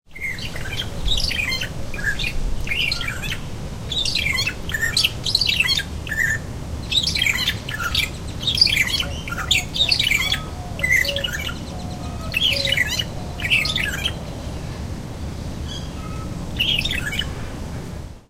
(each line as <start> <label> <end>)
0.1 Song of a Magpie Shrike 14.5
15.7 Song of a Magpie Shrike 17.3